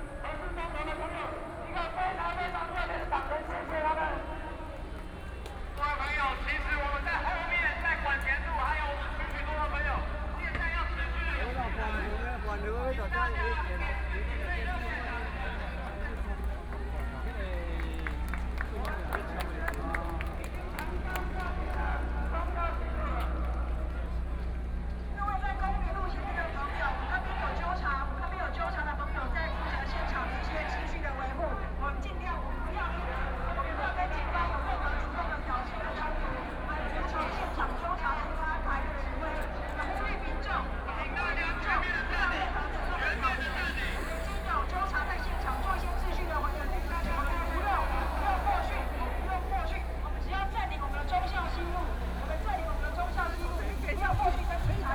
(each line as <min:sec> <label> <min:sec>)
0:38.7 Protest actions 0:54.9